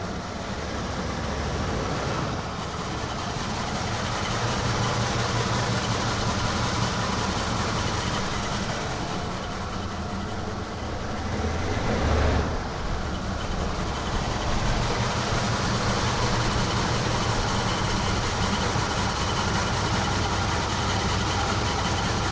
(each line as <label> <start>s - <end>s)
Vintage Cadillac Rolls Up Squeak Break Idle 2.6s - 10.9s
Vintage Cadillac Rolls Up Squeak Break Idle 12.9s - 22.3s